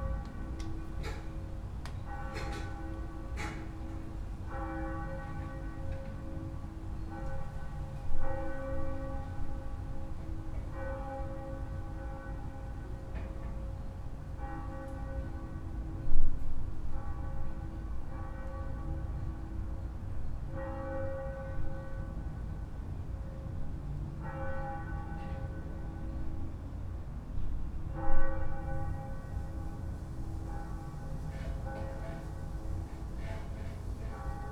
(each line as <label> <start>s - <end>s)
easter bells 28.0s - 34.5s